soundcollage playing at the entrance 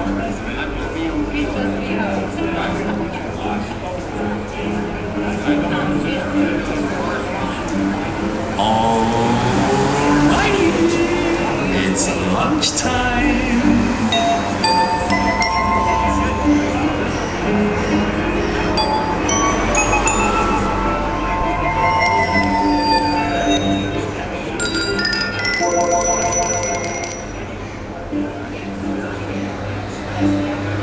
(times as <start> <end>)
9.7 29.1